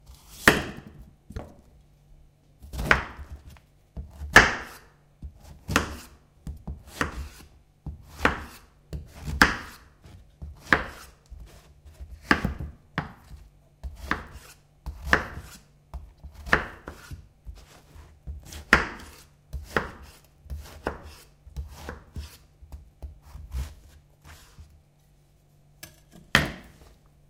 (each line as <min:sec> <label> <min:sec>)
0:02.6 Cutting Zucchini 0:24.7